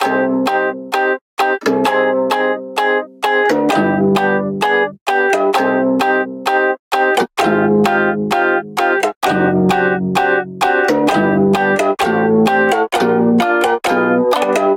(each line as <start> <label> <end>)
0.0 Melody 14.7